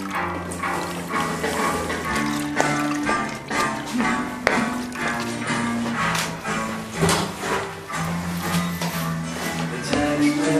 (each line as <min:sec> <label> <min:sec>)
0:00.0 wiping the floor 0:10.5
0:09.4 singing a good old song 0:10.5